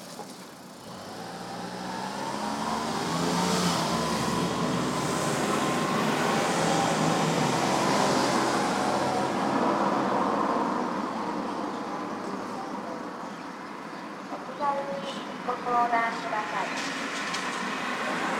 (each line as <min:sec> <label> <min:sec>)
0:14.3 Recycling collection truck loudspeaker announcing items 0:17.0